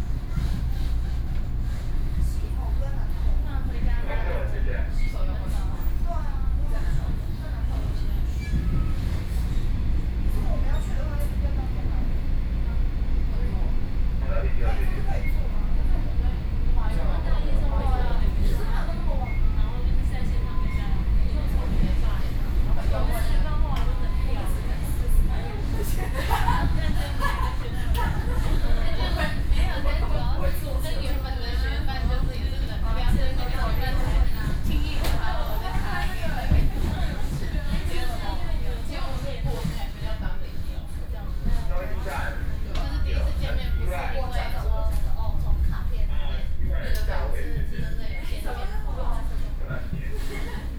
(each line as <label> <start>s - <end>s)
Ordinary train 0.0s - 50.7s